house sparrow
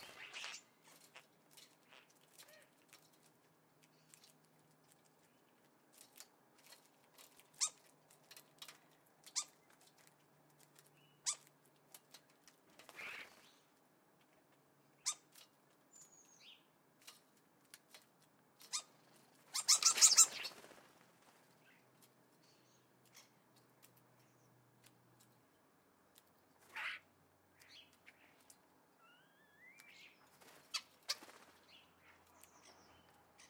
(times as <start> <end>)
18.6 20.8, 21.4 33.4